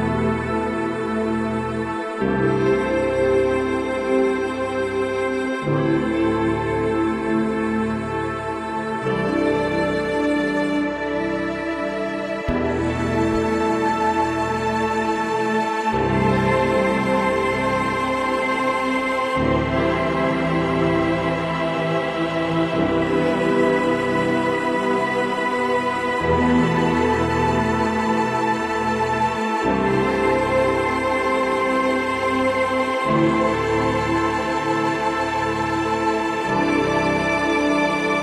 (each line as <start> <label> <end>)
0.0 cello 38.2
0.0 piano 38.2